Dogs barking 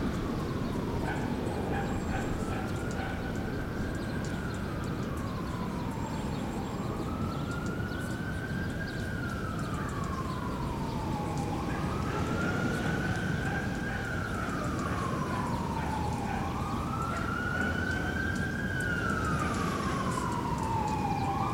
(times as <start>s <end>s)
0.9s 4.0s, 9.6s 10.4s, 11.1s 20.4s